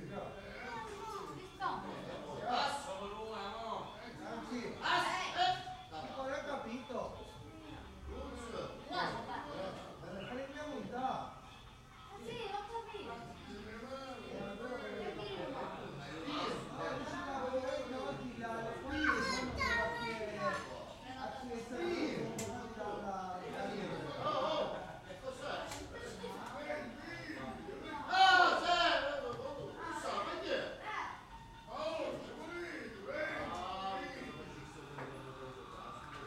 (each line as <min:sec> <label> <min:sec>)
0:00.0 chatter from the surrounding neighbours 0:36.2